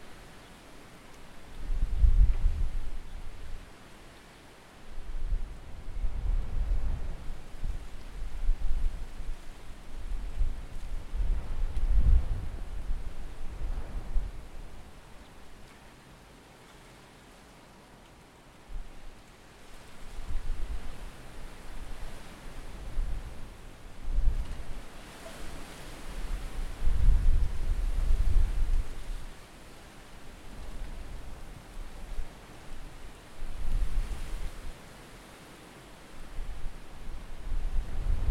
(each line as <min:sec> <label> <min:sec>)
0:36.4 Storm 0:38.3